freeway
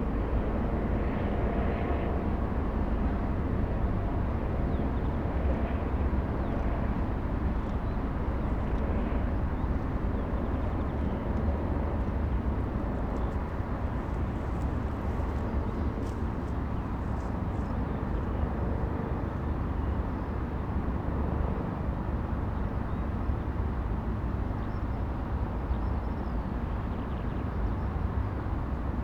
0:06.0 0:18.4

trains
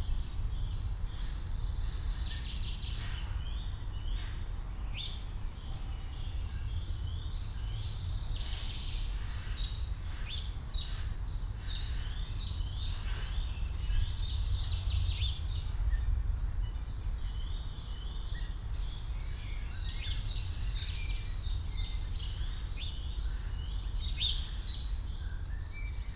0:01.2 0:05.0

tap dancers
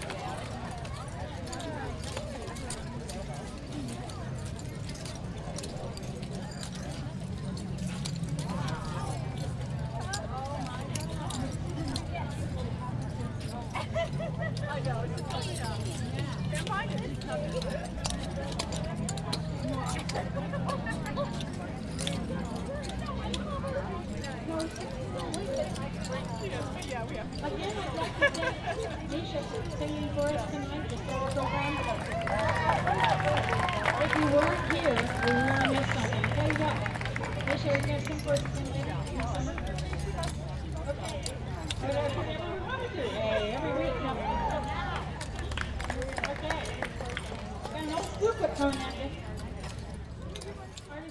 0:31.7 0:39.0

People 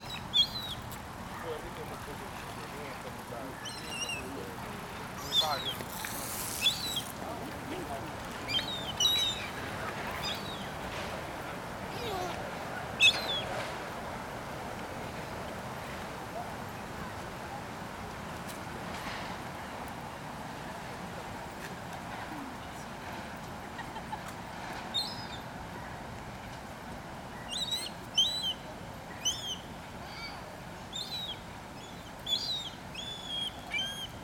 0:00.1 0:14.0

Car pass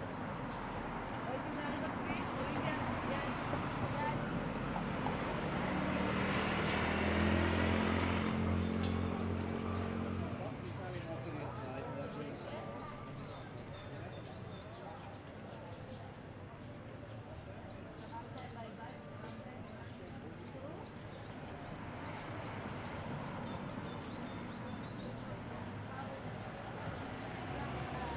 0:02.1 0:10.9, 0:21.3 0:28.1

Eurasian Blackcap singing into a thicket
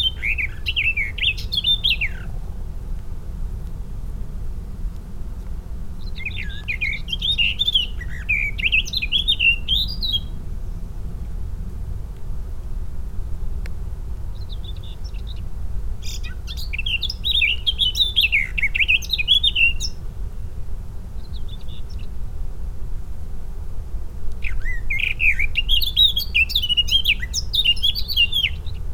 0:00.0 0:02.6, 0:05.9 0:11.0, 0:14.2 0:22.3, 0:24.4 0:28.9

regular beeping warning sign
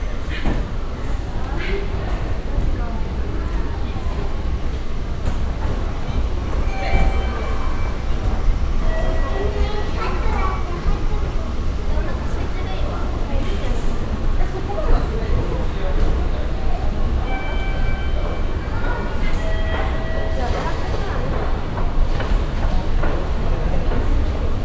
0:06.1 0:10.0, 0:17.2 0:20.6

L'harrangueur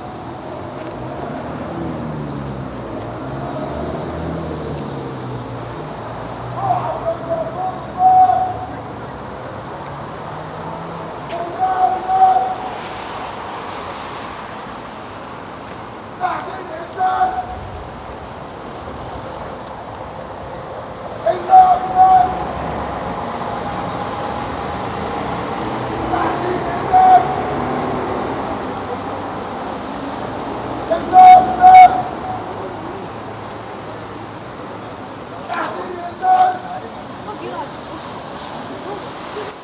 0:21.2 0:23.4

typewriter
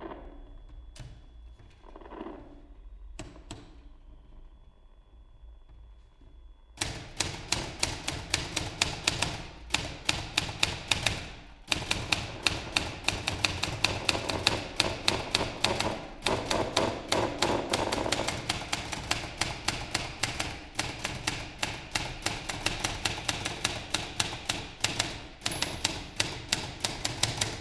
0:06.8 0:27.6

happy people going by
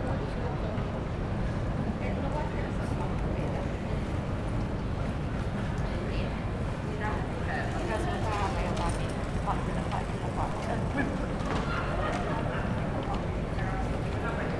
0:02.9 0:14.5

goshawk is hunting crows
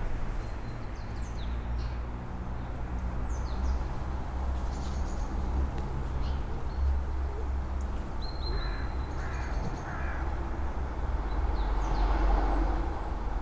0:08.4 0:10.4

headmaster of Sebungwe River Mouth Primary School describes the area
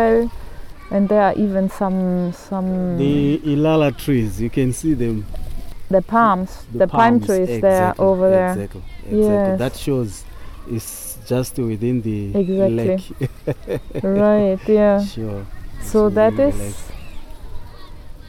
0:06.8 0:14.0, 0:14.6 0:17.0

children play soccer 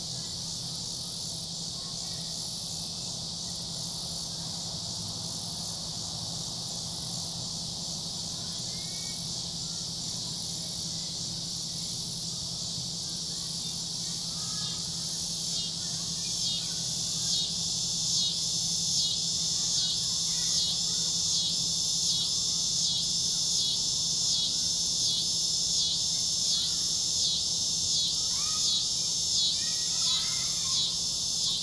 0:28.2 0:31.0

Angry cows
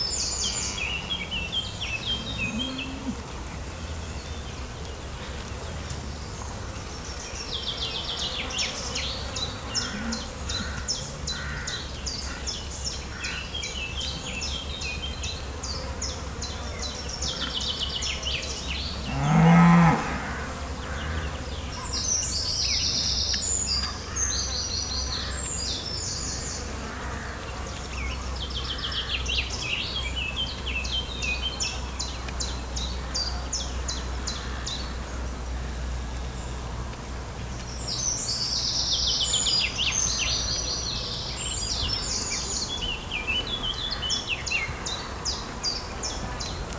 0:00.6 0:06.0, 0:08.1 0:12.6, 0:15.8 0:22.1

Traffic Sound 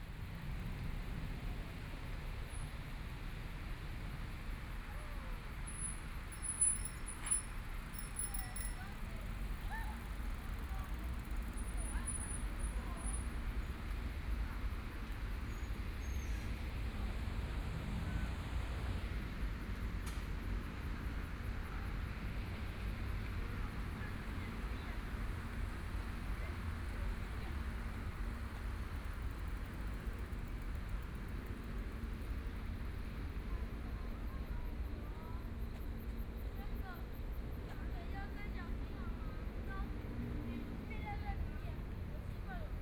0:05.6 0:38.7

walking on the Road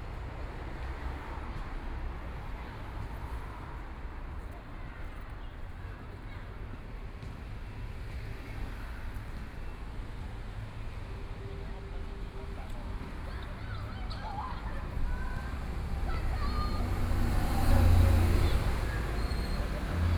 0:12.0 0:20.1

